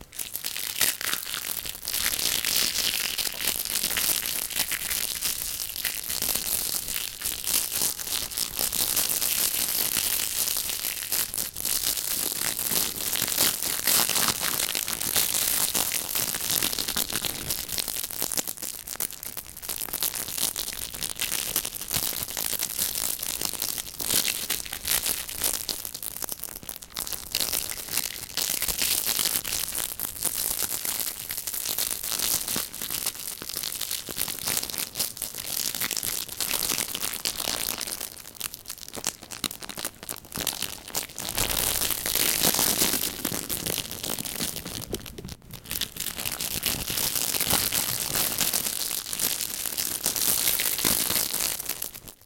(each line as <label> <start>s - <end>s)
Crackling Plastic 31.9s - 52.2s